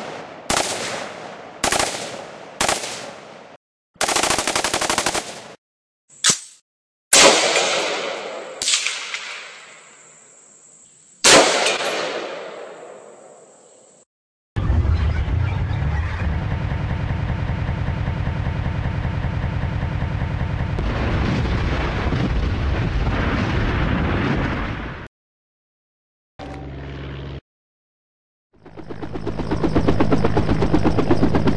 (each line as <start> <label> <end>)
6.2 shots 10.0
11.2 shots 13.3
14.6 Explosions 16.4
14.6 helicopter 20.8
20.8 Explosions 25.1
26.4 helicopter 27.4
28.5 helicopter 31.5